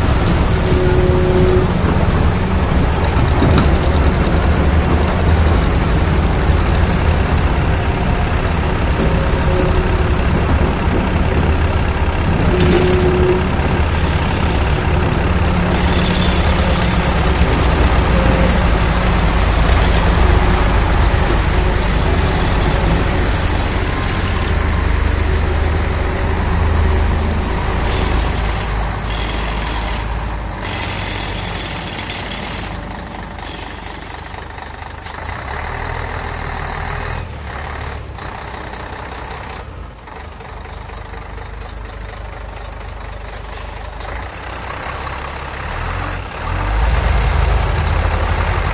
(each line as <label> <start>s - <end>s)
Trucks 0.0s - 48.7s
crane 0.0s - 48.7s
jackhammer 27.9s - 32.8s
jackhammer 33.4s - 34.4s